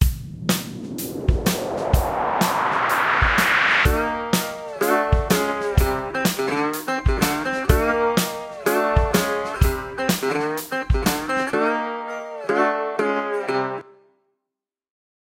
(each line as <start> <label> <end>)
4.0 Happy Country Tune 13.8